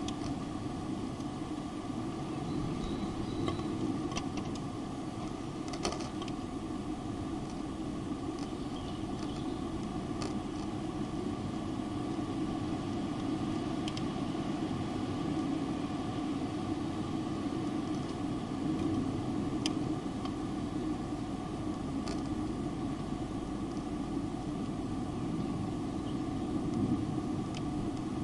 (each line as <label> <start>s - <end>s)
ventilation fan shutters clicking in the breeze 0.0s - 28.2s
wind in the tube-shaped fan chamber 0.0s - 28.2s
birds in the distance 2.2s - 3.9s
birds in the distance 8.2s - 9.9s
birds in the distance 25.1s - 26.6s